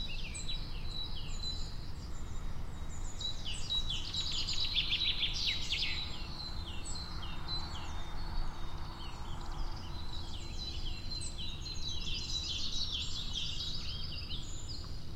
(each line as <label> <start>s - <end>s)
birds 0.0s - 15.1s